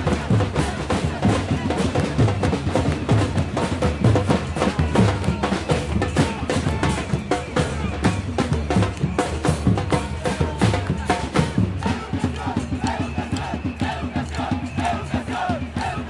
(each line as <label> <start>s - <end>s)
crowd 0.0s - 16.0s
drums 0.0s - 16.0s